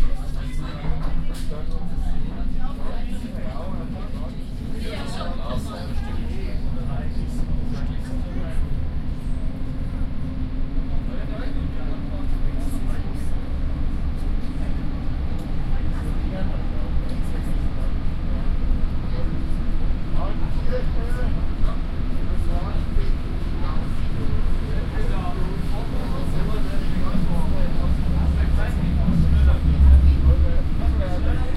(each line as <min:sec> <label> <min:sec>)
0:00.0 riding a subway train 0:31.5